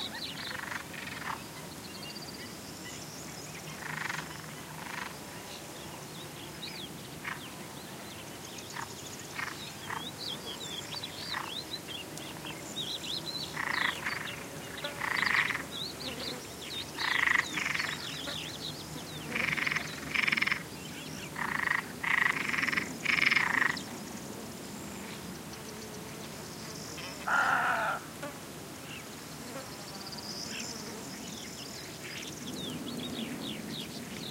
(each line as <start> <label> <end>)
0.0 bee 34.3
0.0 fly 34.3
0.4 frog 1.4
3.7 frog 5.2
8.7 frog 10.1
12.9 varied bird calls 23.9
13.6 frog 14.4
15.0 frog 15.6
17.0 frog 18.1
19.4 frog 20.6
21.4 frog 23.8
27.0 varied bird calls 28.1
27.2 frog 28.1